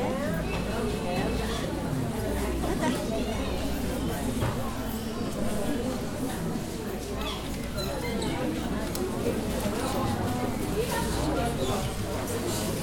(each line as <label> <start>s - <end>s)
Murmur, Arabic 0.0s - 12.8s